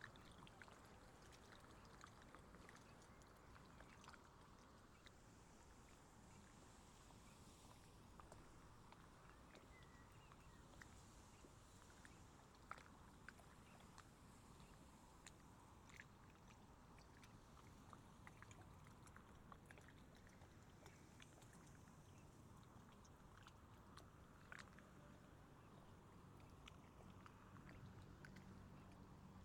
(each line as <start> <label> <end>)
0.0 Soft lapping of little waves against the shore 29.4